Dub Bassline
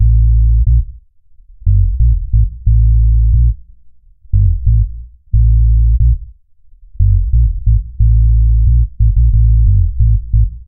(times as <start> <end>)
1.7 3.6, 4.3 6.3, 7.0 10.6